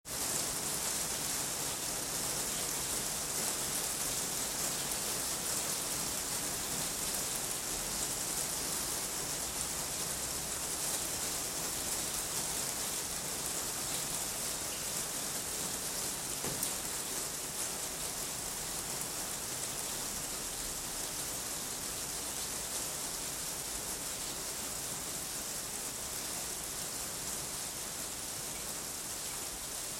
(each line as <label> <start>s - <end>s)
Rain falling on roof 0.1s - 29.9s